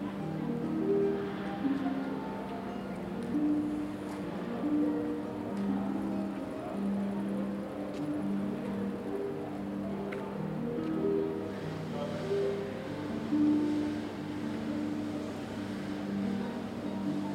Streetmusician Harp 0:00.0 - 0:17.3
People talking 0:11.8 - 0:13.6
People talking 0:16.1 - 0:17.3

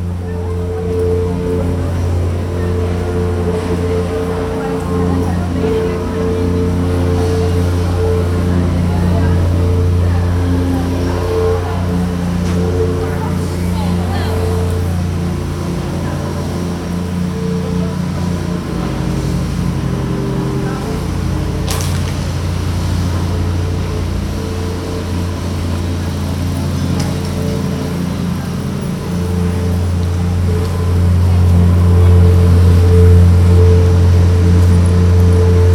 worker using a machine 0:00.0 - 0:35.7

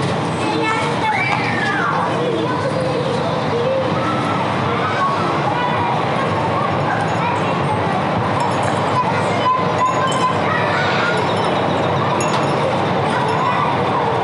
traffic 0:00.0 - 0:14.2
wind 0:00.0 - 0:14.2
kids laughing and screaming 0:00.4 - 0:14.2
hanging bells 0:08.2 - 0:14.2

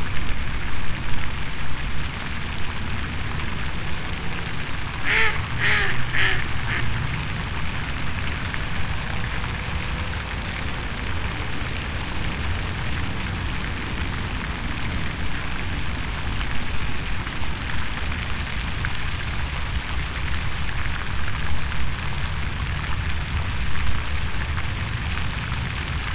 fountain 0:00.0 - 0:26.1
traffic sounds 0:00.2 - 0:19.2
water fowl 0:03.3 - 0:10.9

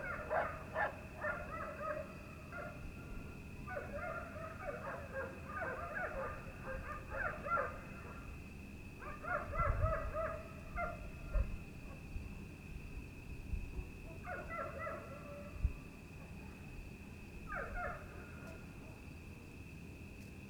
dogs 0:00.0 - 0:02.8
dogs 0:03.7 - 0:08.3
dogs 0:09.0 - 0:12.1
dogs 0:14.1 - 0:15.6
dogs 0:17.5 - 0:19.0

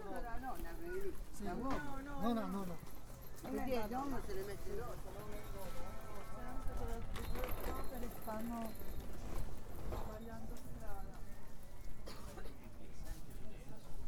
north african passers-by 0:00.0 - 0:12.9
chinese vendors chatting 0:00.0 - 0:14.0

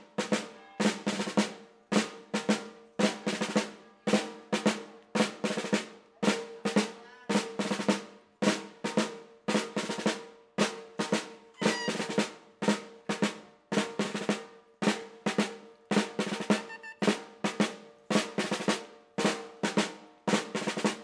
jeunes musiciens parcourent les rues 0:16.4 - 0:17.1

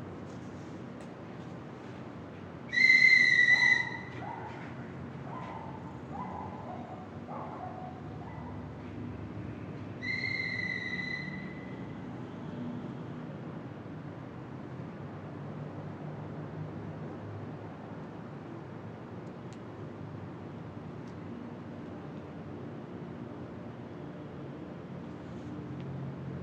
night city 0:00.0 - 0:26.4
dog barking 0:05.3 - 0:08.6

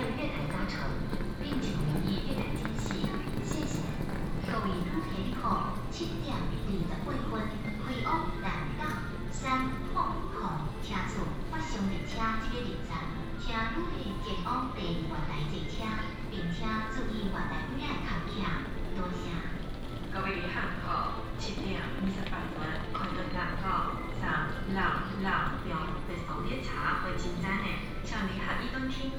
Station Message Broadcast 0:09.7 - 0:29.1

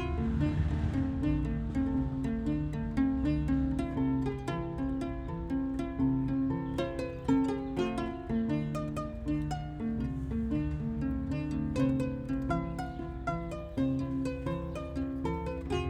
plays the Kora 0:00.0 - 0:15.8

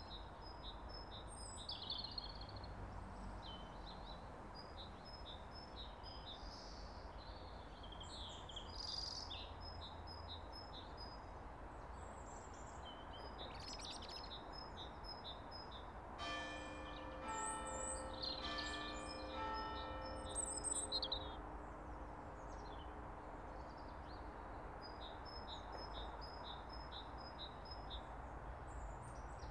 Birdsong 0:12.2 - 0:22.9
bells 0:16.2 - 0:21.6

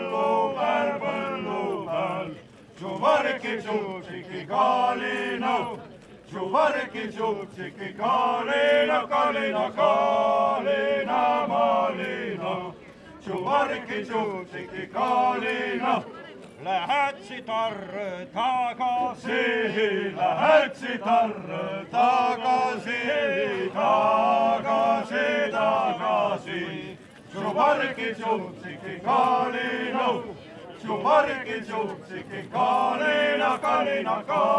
folk singers 0:00.0 - 0:34.5

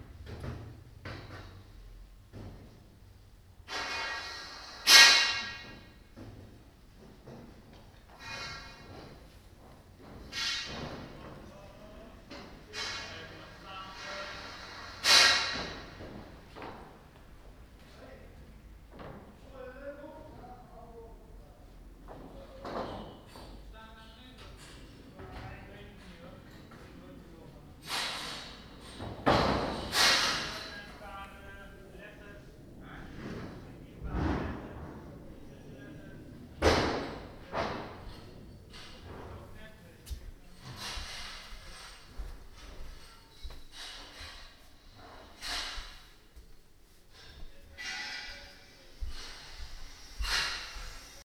Building a scaffold 0:00.0 - 0:18.0
Building a scaffold 0:18.8 - 0:21.0
Building a scaffold 0:21.6 - 0:51.2

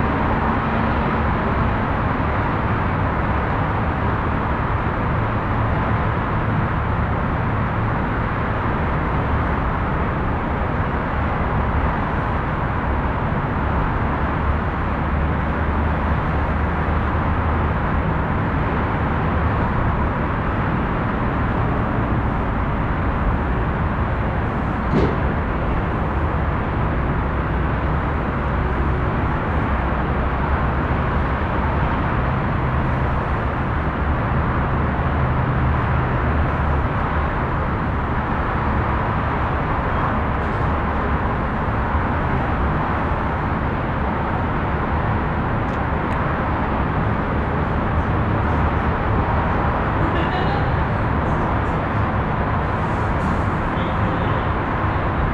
dronelike sound of the city traffic 0:00.0 - 0:55.3
doors banging at the platform entrance 0:24.8 - 0:25.7

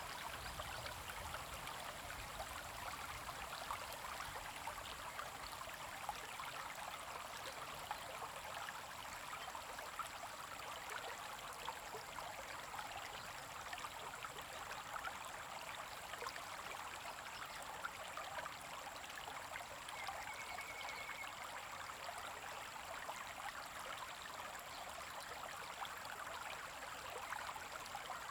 Stream 0:00.0 - 0:28.3

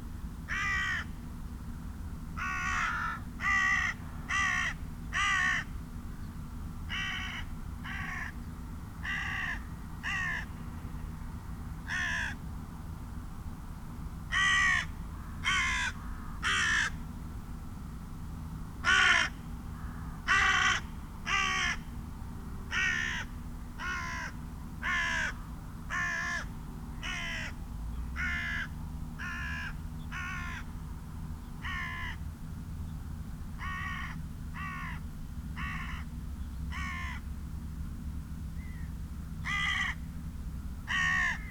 carrion crow 0:00.5 - 0:01.1
carrion crow 0:02.4 - 0:05.7
carrion crow 0:09.0 - 0:10.5
carrion crow 0:11.9 - 0:12.4
carrion crow 0:14.3 - 0:17.0
carrion crow 0:18.8 - 0:21.8
carrion crow 0:22.7 - 0:27.6
carrion crow 0:28.2 - 0:30.7
carrion crow 0:33.6 - 0:35.0
carrion crow 0:39.4 - 0:40.0
carrion crow 0:40.9 - 0:41.5

